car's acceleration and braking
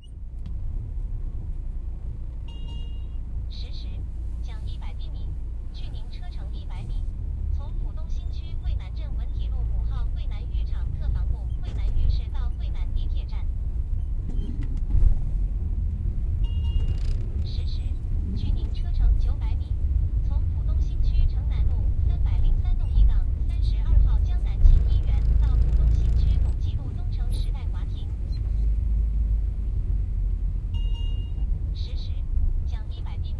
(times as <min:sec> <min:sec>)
0:13.7 0:18.6, 0:24.5 0:31.6